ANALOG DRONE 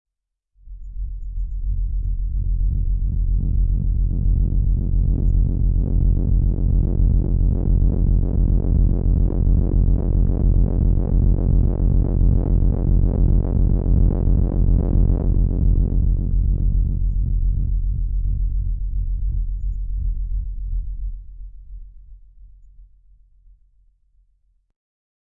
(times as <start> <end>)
0.7 20.1